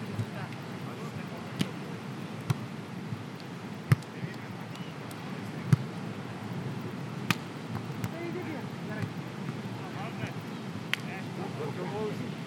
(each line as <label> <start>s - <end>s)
People talking 0.2s - 2.0s
playing volleyball 1.5s - 6.0s
waves 4.2s - 12.4s
playing volleyball 6.9s - 11.2s
People talking 9.8s - 10.4s
People talking 11.0s - 12.4s